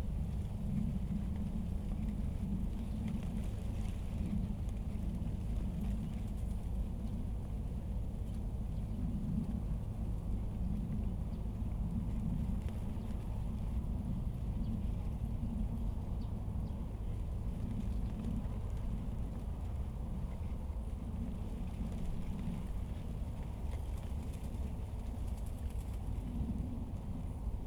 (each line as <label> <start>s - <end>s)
Wind and leaves 0.0s - 27.6s
planes in the distance 0.0s - 27.6s